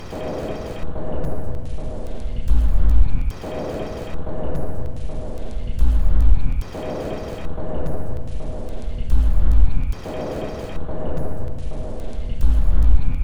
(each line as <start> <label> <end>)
0.0 Drum 13.2